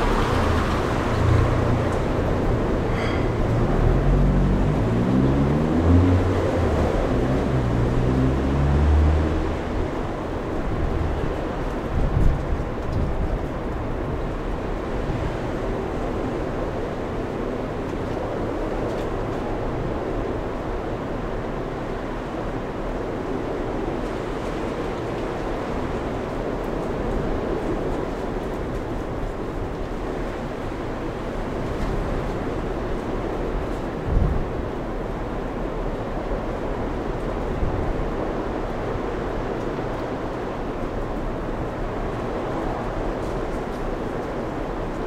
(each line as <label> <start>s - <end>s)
storm 0.0s - 45.0s
wind 0.0s - 45.0s